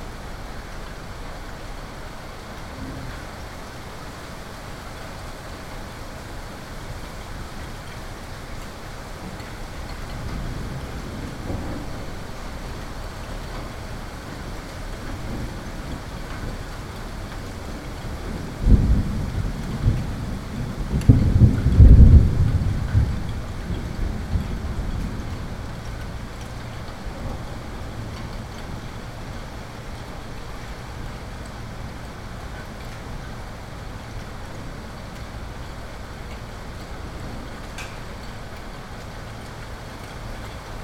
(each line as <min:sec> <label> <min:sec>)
0:18.0 thunders 0:28.8